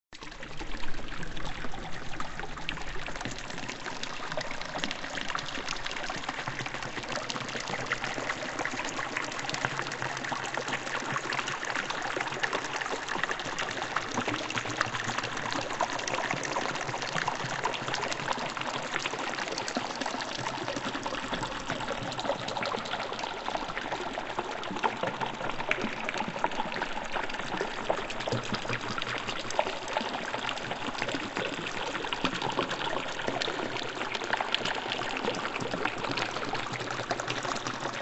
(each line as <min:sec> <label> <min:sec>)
0:00.2 bubbles 0:38.0